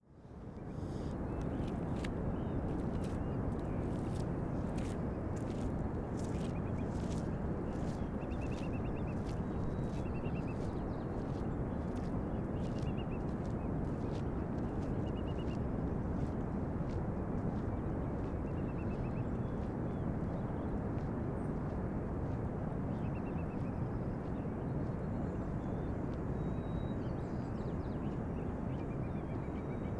0.6s birds 15.6s

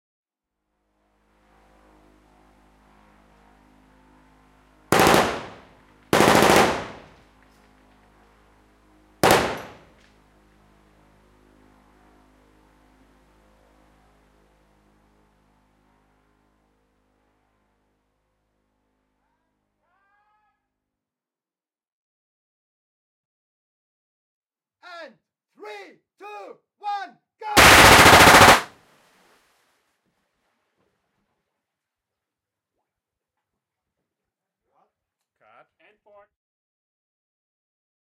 4.9s Machine gun firing 7.2s
9.2s Machine gun firing 9.9s
27.6s Machine gun firing 28.7s

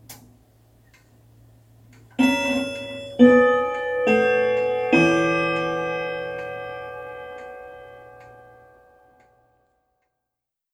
2.2s grandfather clock's first quarter chimes 10.1s

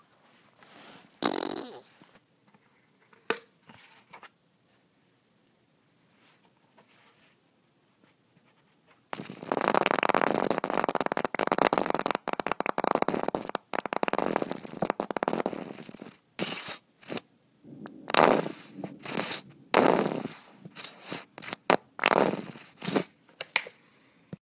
1.2s squeezing of a mustard bottle 2.0s
9.1s squeezing of a mustard bottle 23.1s

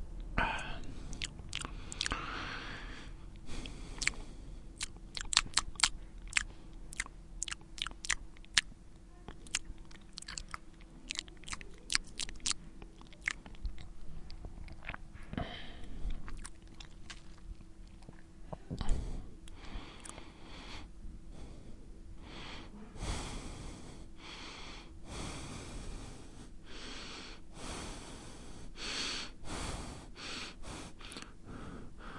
0.4s Men breathing 4.7s

